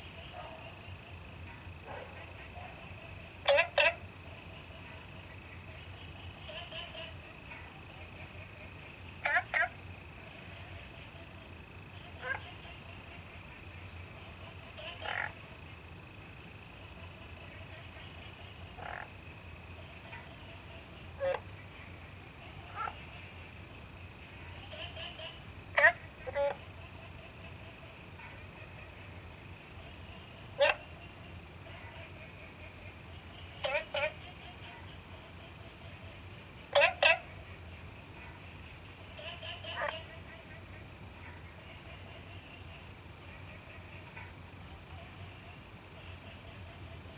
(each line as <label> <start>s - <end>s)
Frog calls 0.0s - 16.0s
Frog calls 16.7s - 23.6s
Frog calls 24.2s - 47.1s